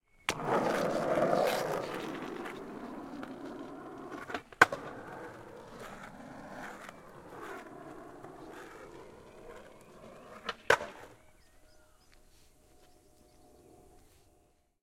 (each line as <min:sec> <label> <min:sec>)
0:00.3 Skate pass on road jump 0:11.2